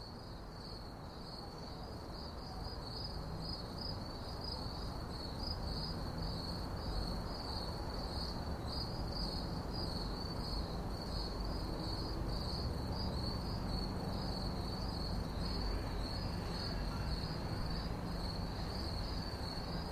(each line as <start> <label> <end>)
0.0 Late Night Crickets 19.9